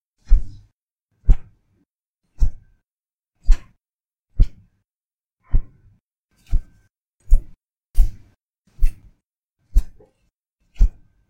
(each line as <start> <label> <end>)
0.2 whipped a plastic ruler 1.6
2.3 whipped a plastic ruler 2.8
3.4 whipped a plastic ruler 4.8
6.4 whipped a plastic ruler 11.2